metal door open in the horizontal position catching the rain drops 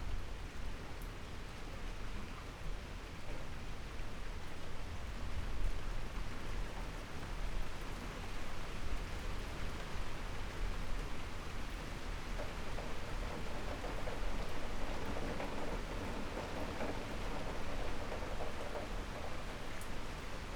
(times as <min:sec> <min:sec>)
0:10.2 0:20.5